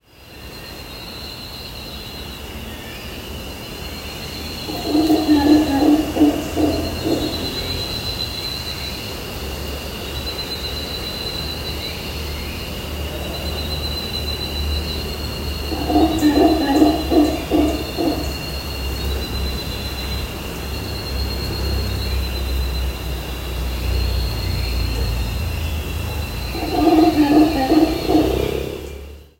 birds are singing 0.0 - 29.3
cicadas are chirping 0.0 - 29.3
Howler monkey howling 4.6 - 8.3
Howler monkey howling 15.1 - 19.2
Howler monkey howling 24.8 - 29.2

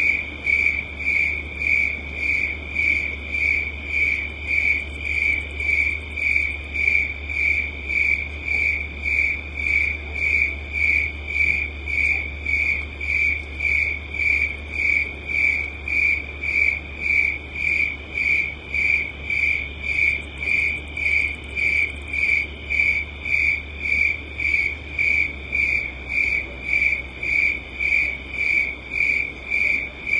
crickets 0.0 - 30.1

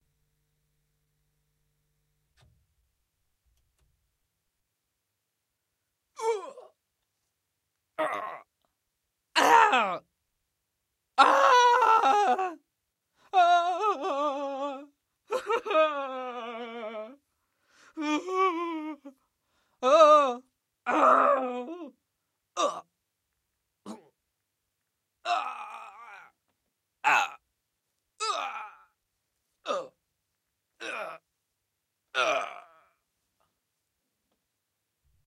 groans of pain, fear and death 6.2 - 6.8
groans of pain, fear and death 8.0 - 8.5
groans of pain, fear and death 9.4 - 10.0
groans of pain, fear and death 11.2 - 12.6
groans of pain, fear and death 19.8 - 21.9
groans of pain, fear and death 22.6 - 22.9
groans of pain, fear and death 25.2 - 26.4
groans of pain, fear and death 27.0 - 27.4
groans of pain, fear and death 28.2 - 29.0
groans of pain, fear and death 29.6 - 30.0
groans of pain, fear and death 30.8 - 31.2
groans of pain, fear and death 32.1 - 33.0

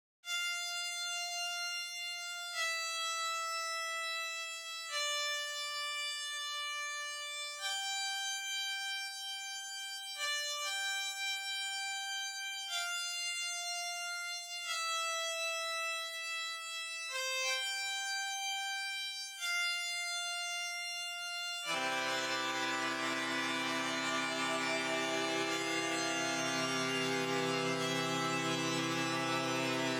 Sad melody 21.6 - 29.9

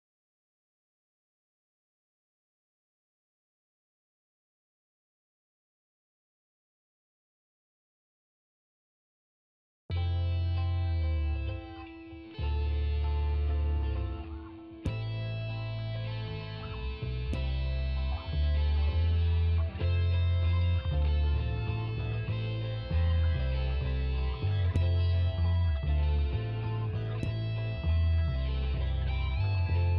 Guitars 9.9 - 29.9

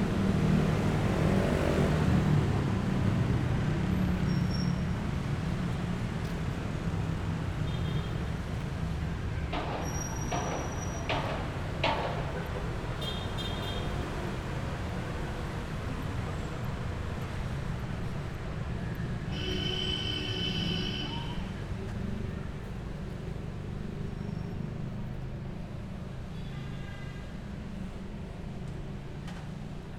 slight vehicle sounds 0.0 - 29.9
wind 0.0 - 29.9

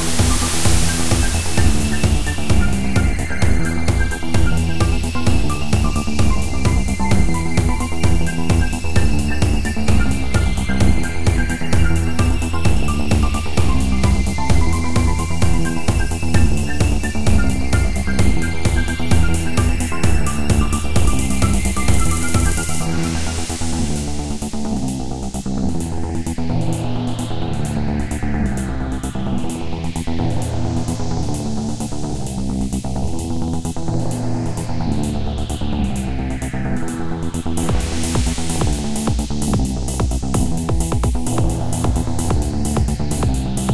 RPG game music 0.0 - 24.4

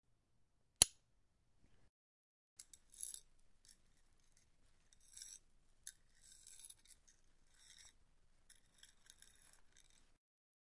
bracelet 2.6 - 10.2

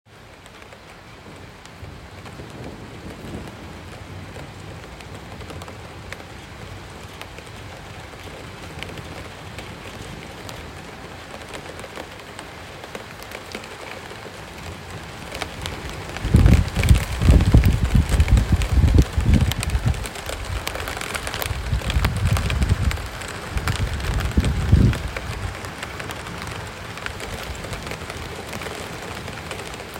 wind 0.0 - 29.9
Light Rain turning into Rainstorm 0.1 - 29.9
hail 0.8 - 29.9
thunder 1.2 - 5.3
thunder 15.7 - 20.7

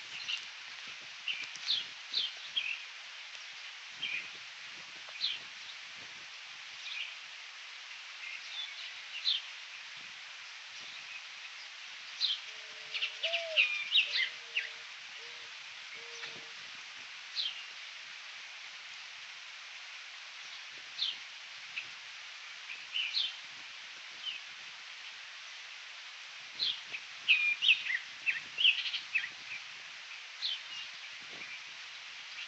Birds 0.0 - 4.4
Birds 7.9 - 16.6
Birds 26.6 - 32.4

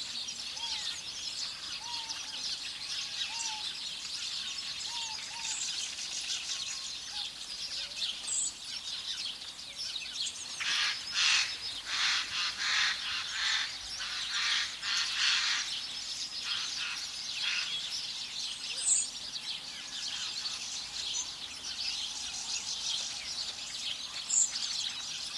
birds singing 0.0 - 25.3

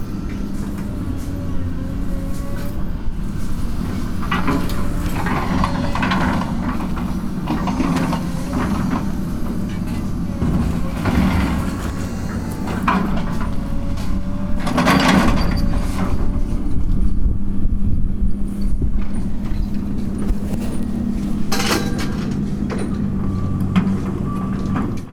Machines 0.0 - 17.0
Machines 18.3 - 25.1
Scrapes 18.5 - 23.6
Clanks 18.6 - 25.1
rattle 19.1 - 23.2

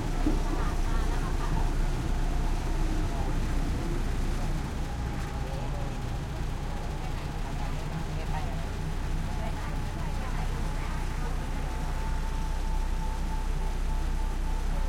loud engine 0.0 - 14.8
passenger commuter train 0.0 - 14.8
thai chatter walla 0.0 - 14.8

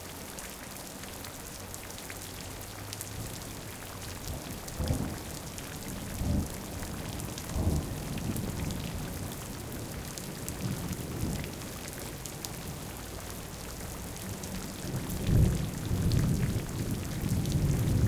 Rain recording that was done underneath a corrugated iron roof 0.0 - 18.0
thunder 4.8 - 5.3
thunder 5.9 - 11.7
thunder 15.1 - 18.0

